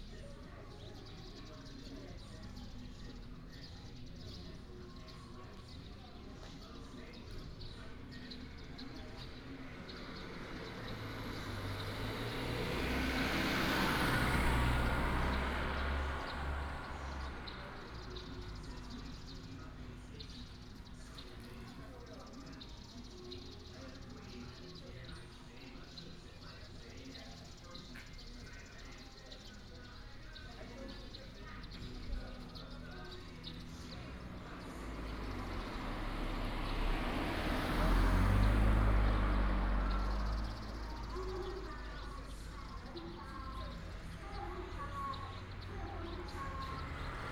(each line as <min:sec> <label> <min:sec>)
0:00.0 traffic sound 0:47.3